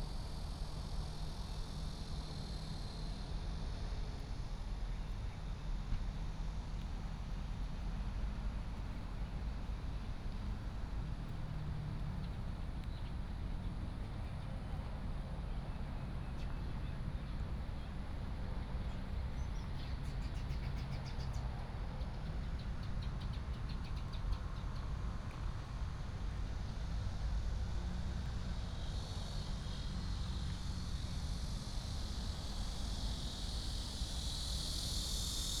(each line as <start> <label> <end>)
0.0 Cicadas 35.6
5.7 Traffic sound 35.6